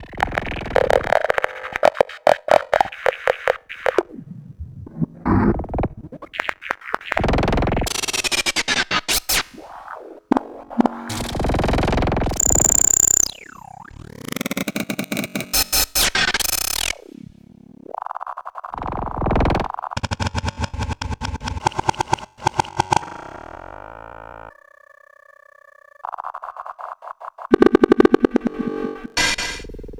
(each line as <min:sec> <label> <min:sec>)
0:09.9 semi-modular synthesizers 0:18.0
0:27.4 semi-modular synthesizers 0:29.9